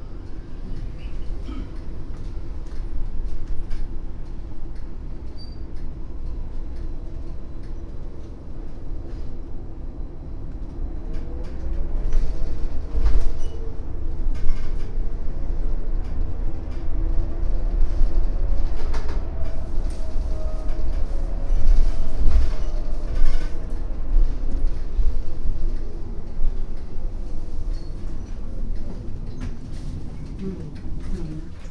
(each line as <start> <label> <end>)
0.0 automatic voice announcing the next bus stops 2.0
0.0 bus drive 31.7
28.2 automatic voice announcing the next bus stops 31.7